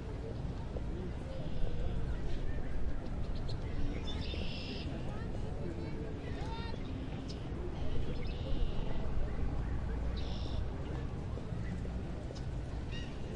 birds 0:06.2 - 0:13.3

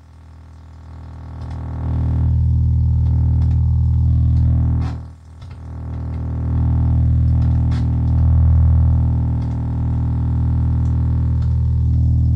Low hum noisy signal 0:00.0 - 0:12.3

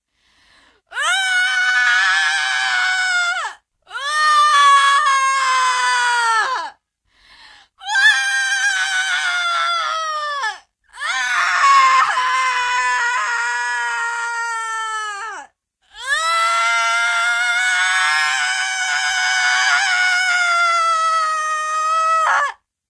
dying scream 0:07.8 - 0:22.6

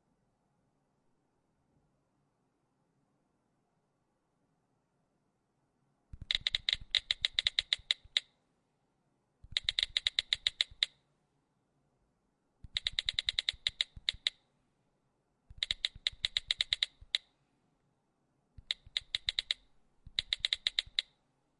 typing-phone 0:06.2 - 0:08.3
typing-phone 0:09.4 - 0:11.0
typing-phone 0:12.6 - 0:14.4
typing-phone 0:15.5 - 0:17.3
typing-phone 0:18.6 - 0:21.2

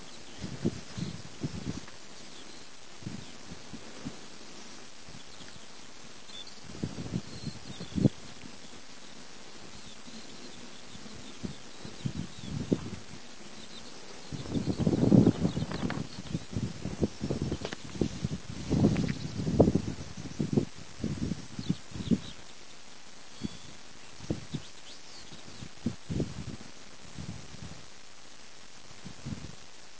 skylark singing 0:00.0 - 0:01.6
windy 0:00.0 - 0:29.9
skylark singing 0:05.1 - 0:20.6
skylark singing 0:21.5 - 0:26.0

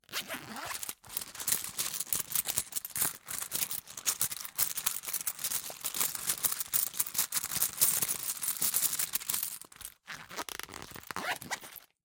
zipper 0:00.0 - 0:04.2
rummaging for change 0:00.3 - 0:11.8
zipper 0:09.8 - 0:12.0

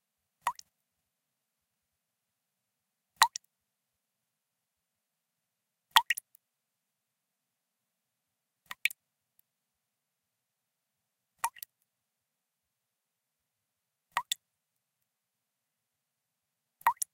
Drops of water falling at a relatively slow rate 0:00.0 - 0:01.1
background noise 0:00.0 - 0:17.1
Drops of water falling at a relatively slow rate 0:03.1 - 0:03.6
Drops of water falling at a relatively slow rate 0:05.8 - 0:06.5
Drops of water falling at a relatively slow rate 0:08.6 - 0:09.5
Drops of water falling at a relatively slow rate 0:11.3 - 0:11.9
Drops of water falling at a relatively slow rate 0:14.0 - 0:15.2
Drops of water falling at a relatively slow rate 0:16.7 - 0:17.1

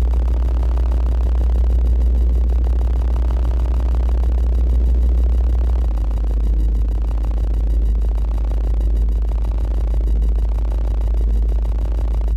Artificial synthesized sound of sci-fi engine 0:00.0 - 0:12.3

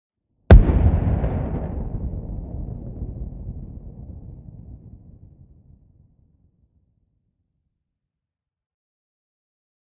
huge explosion in distance 0:00.5 - 0:06.5

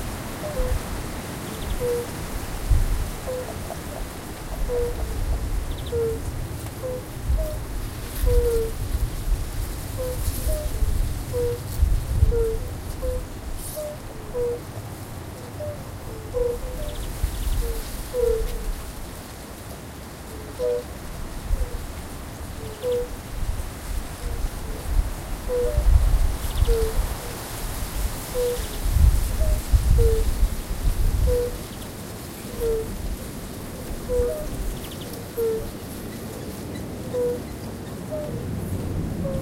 windy 0:00.0 - 0:39.4
common spadefoot toads (Pelobates fuscus) mate calling sounds 0:03.2 - 0:08.8
common spadefoot toads (Pelobates fuscus) mate calling sounds 0:12.3 - 0:14.6
common spadefoot toads (Pelobates fuscus) mate calling sounds 0:15.5 - 0:18.6
common spadefoot toads (Pelobates fuscus) mate calling sounds 0:22.7 - 0:23.2
common spadefoot toads (Pelobates fuscus) mate calling sounds 0:25.5 - 0:27.0
common spadefoot toads (Pelobates fuscus) mate calling sounds 0:28.3 - 0:28.8
common spadefoot toads (Pelobates fuscus) mate calling sounds 0:31.2 - 0:31.8
common spadefoot toads (Pelobates fuscus) mate calling sounds 0:32.5 - 0:32.9
common spadefoot toads (Pelobates fuscus) mate calling sounds 0:33.8 - 0:35.8

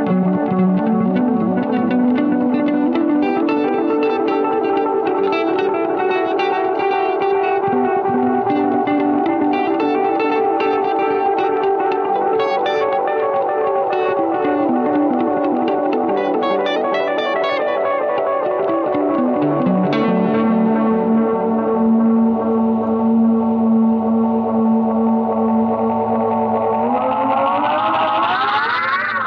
electric-guitar song 0:00.0 - 0:29.2

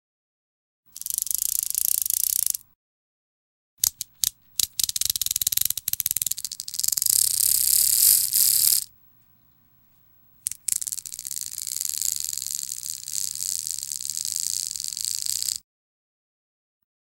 zipping sound of the beads being pulled 0:00.9 - 0:02.6
zipping sound of the beads being pulled 0:04.8 - 0:08.9
zipping sound of the beads being pulled 0:10.5 - 0:15.6

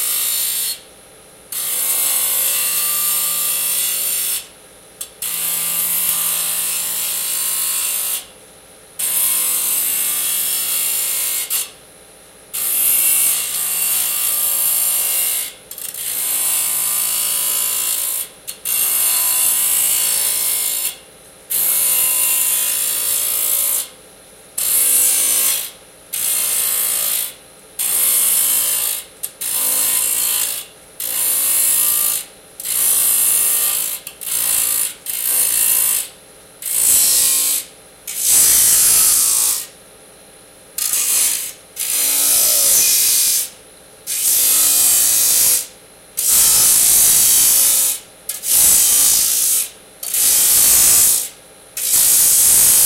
Disk Saw Cuts Alluminium 0:40.8 - 0:43.5

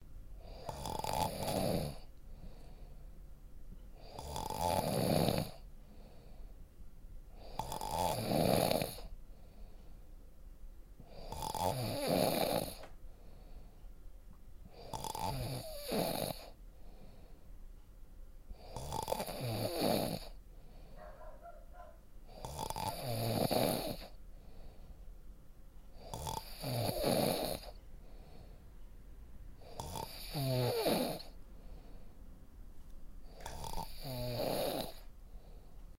Someone Snoring 0:00.4 - 0:02.1
Someone Snoring 0:04.0 - 0:05.6
Someone Snoring 0:07.4 - 0:09.1
Someone Snoring 0:11.1 - 0:12.9
Someone Snoring 0:14.7 - 0:16.6
Someone Snoring 0:18.6 - 0:20.4
Someone Snoring 0:22.3 - 0:24.2
Someone Snoring 0:26.0 - 0:27.8
Someone Snoring 0:29.6 - 0:31.4
Someone Snoring 0:33.3 - 0:35.1

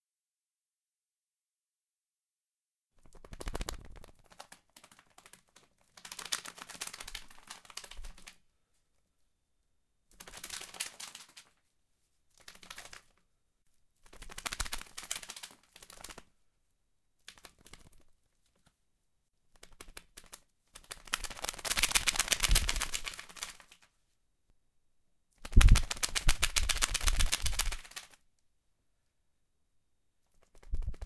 Birds flapping wings 0:03.0 - 0:08.4
Birds flapping wings 0:14.1 - 0:16.2
Birds flapping wings 0:19.6 - 0:23.7
Birds flapping wings 0:25.4 - 0:28.2
Birds flapping wings 0:30.4 - 0:31.0

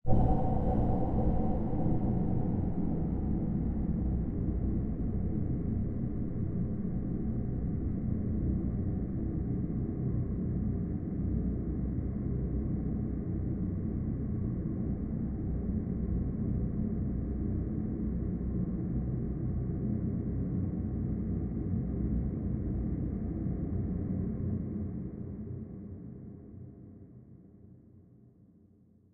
drone 0:00.0 - 0:09.7

